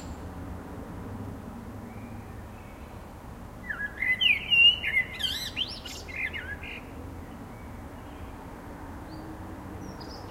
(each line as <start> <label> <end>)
0.0 blackbird singing 0.2
0.0 cars 4.1
3.6 blackbird singing 6.9